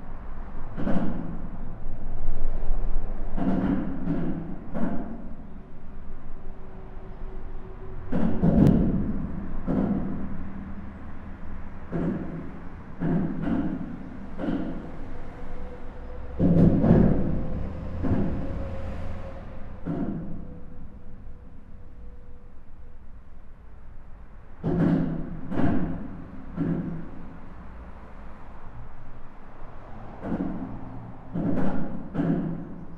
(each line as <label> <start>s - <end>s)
cars are driving fast 0.0s - 21.0s
cars are driving fast 24.2s - 32.9s